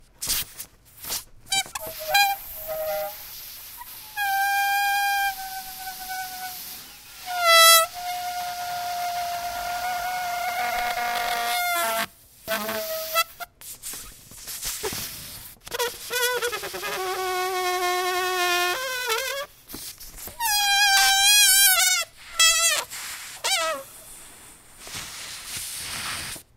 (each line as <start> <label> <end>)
1.5 Letting out air out of a balloon 13.4
19.2 Letting out air out of a balloon 26.5